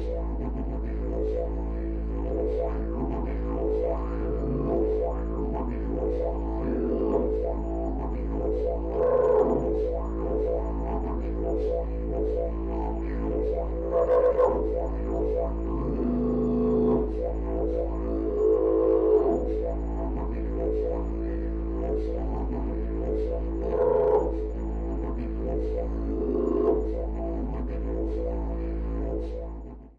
didgeridoo playing the note A 2.2 - 29.5

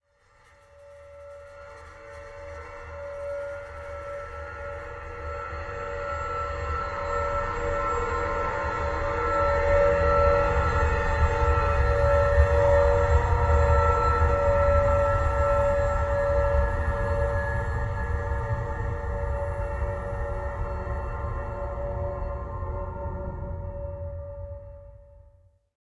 drone 0.2 - 25.2

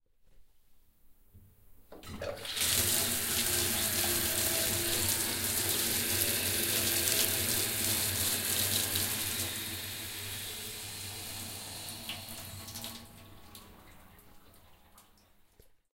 Bath Tap 1.9 - 15.8
drain 2.0 - 15.8
dripping 2.1 - 15.8

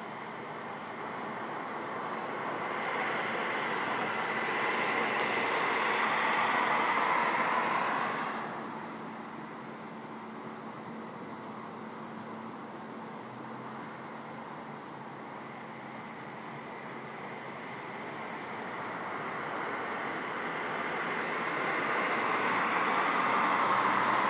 Traffic 0.0 - 24.2

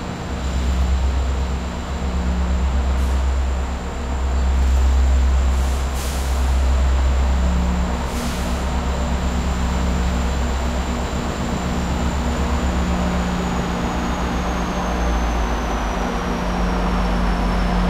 Train passing 0.0 - 17.8

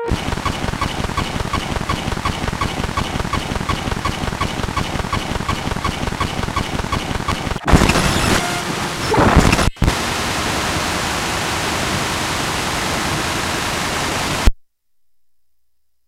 long radar glitch hiss 0.0 - 10.5

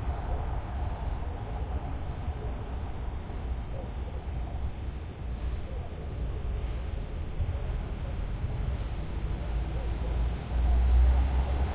crickets 0.0 - 11.7
train 0.0 - 11.7
car passes nearby 8.7 - 11.7

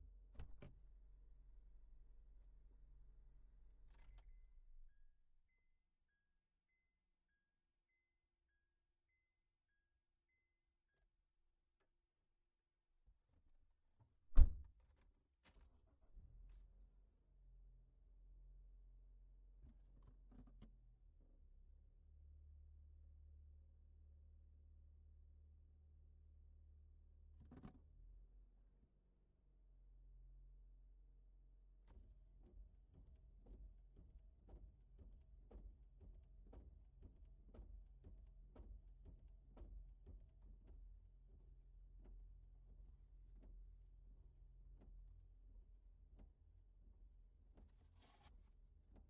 windows 0.3 - 0.9
windows 14.0 - 16.6

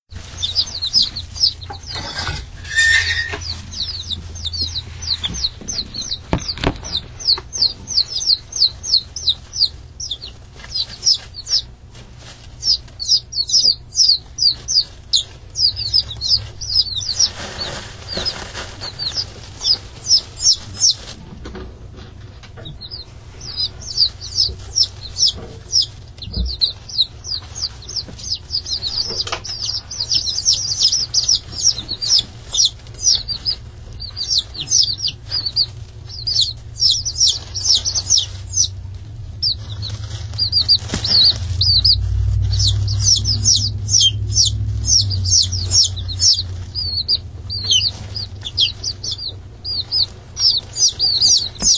Bantam chicks chirping 0.0 - 51.7
scratching 0.0 - 51.7

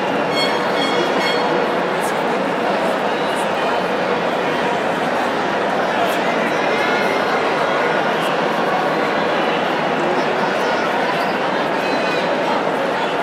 stadium sound 0.0 - 8.7

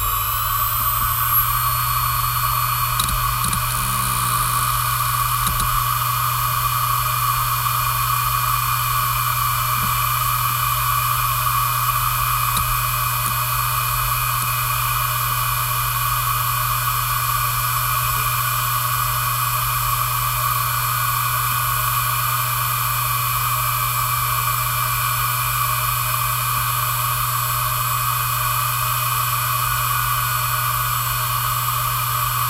starting of the spinning noise 0.0 - 14.6
heads rumbling when data is read and written 0.0 - 16.1
old hard disk drive 0.0 - 18.6

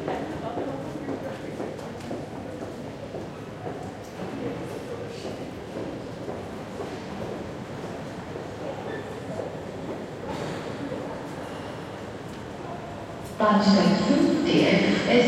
Trains can be heard arriving and leaving 0.0 - 15.2
people talking 12.6 - 15.2
arriving train is announced on the PA system 13.4 - 15.2

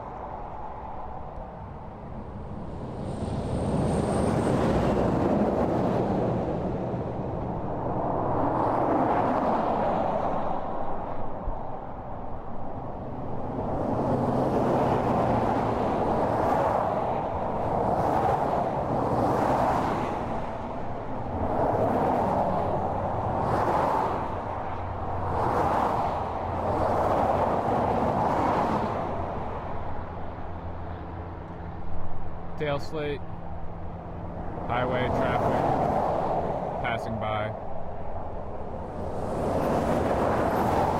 Trucks&Fast Traffic 0.0 - 40.9

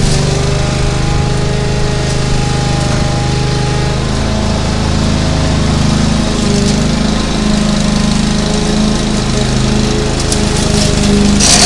Lawnmower 0.0 - 11.6

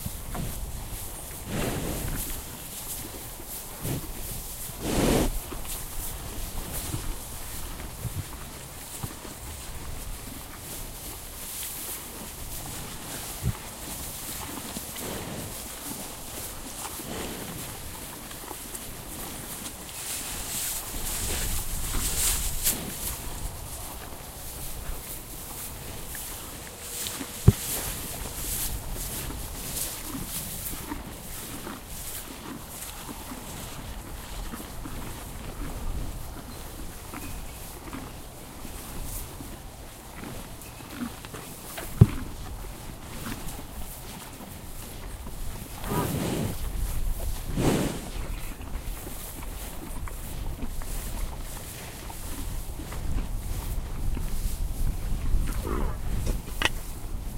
Cows Chewing 0.0 - 57.3
Cows Grunting 3.8 - 5.6
Cows Grunting 44.8 - 48.8
Cows Grunting 55.2 - 57.0

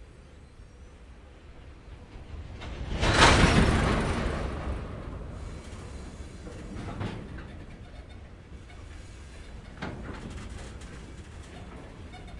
starting train 0.0 - 12.3

